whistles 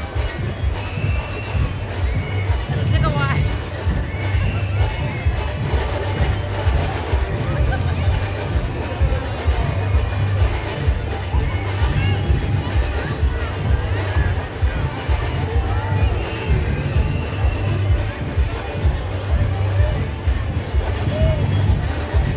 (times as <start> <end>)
0.0 6.9, 15.3 18.9